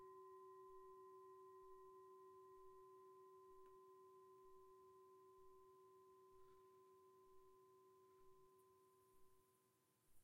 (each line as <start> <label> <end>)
0.0 Himalayan Singing Bowl 9.4